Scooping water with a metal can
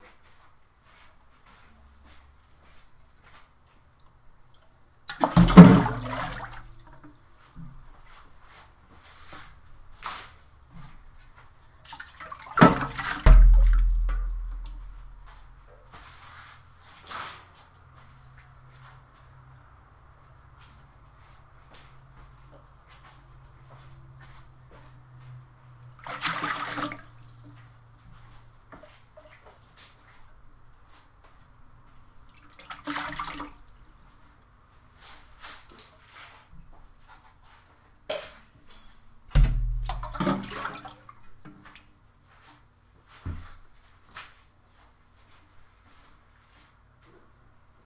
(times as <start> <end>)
5.1 7.2, 11.9 15.5, 26.0 27.5, 32.4 33.7, 39.4 41.8